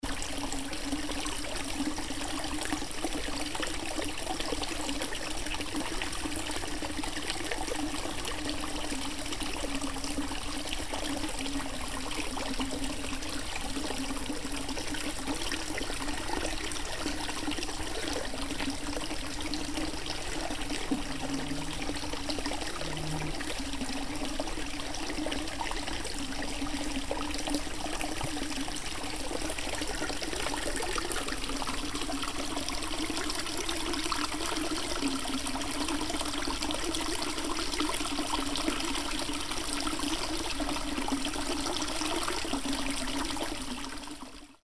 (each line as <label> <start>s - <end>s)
Water stream below a small concrete bridge 0.0s - 44.6s